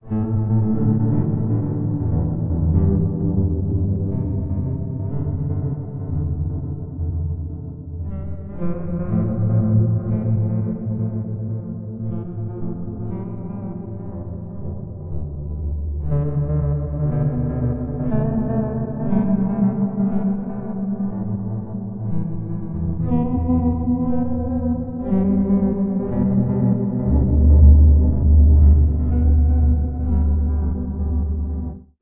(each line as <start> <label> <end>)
0.0 sweet and deep ambiant melody 32.0